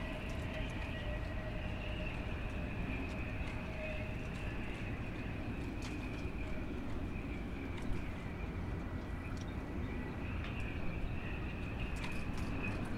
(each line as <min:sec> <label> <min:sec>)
0:00.0 shipbuilding with the wind 0:12.9